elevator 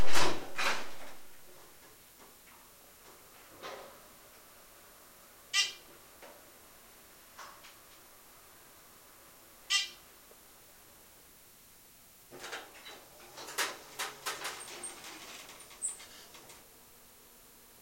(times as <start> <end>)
12.3 16.7